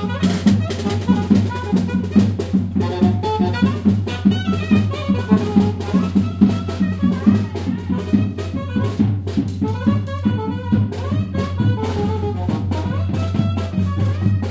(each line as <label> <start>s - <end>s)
Folk Music Family Band playing on street 0.0s - 14.5s
people 0.0s - 14.5s